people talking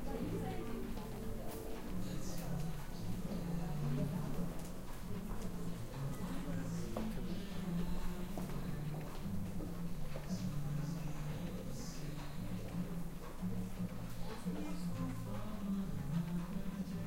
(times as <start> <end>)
0.0 9.2, 14.1 17.0